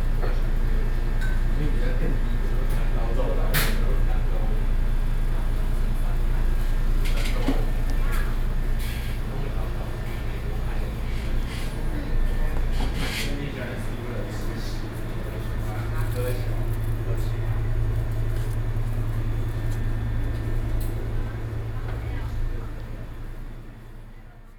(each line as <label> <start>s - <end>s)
Air-conditioning noise 0.0s - 24.5s